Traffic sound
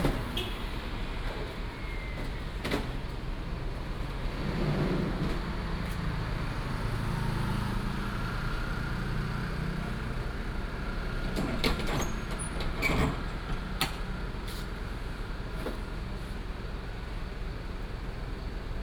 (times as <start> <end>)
0.0 12.6